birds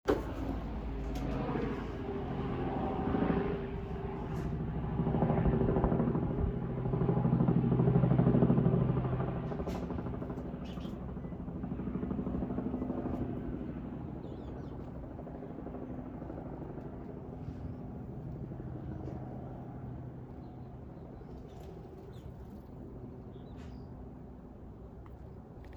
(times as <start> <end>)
10.6 11.3